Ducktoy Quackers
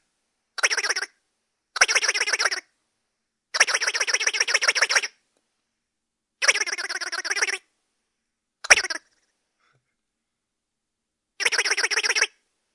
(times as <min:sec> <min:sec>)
0:00.6 0:01.2, 0:01.8 0:02.7, 0:03.6 0:05.2, 0:06.4 0:07.7, 0:08.6 0:09.1, 0:11.4 0:12.4